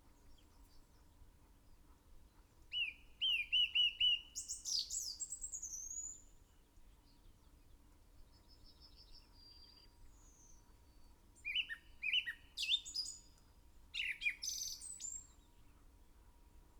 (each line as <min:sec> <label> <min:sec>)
0:02.7 song thrush in song 0:06.4
0:08.4 song thrush in song 0:13.4
0:14.0 blackbird 0:15.5